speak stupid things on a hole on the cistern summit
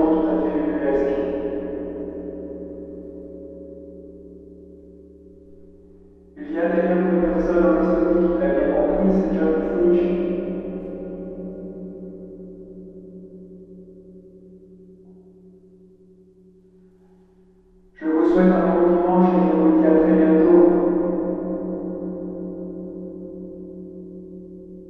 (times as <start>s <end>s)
0.0s 1.4s, 6.4s 10.4s, 18.0s 20.8s